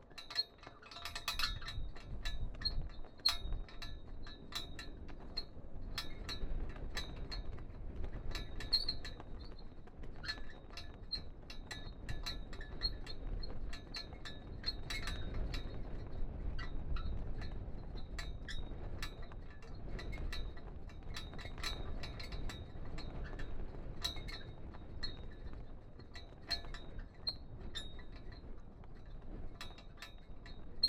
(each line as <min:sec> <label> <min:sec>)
0:00.0 Castle flag on the wind 0:30.8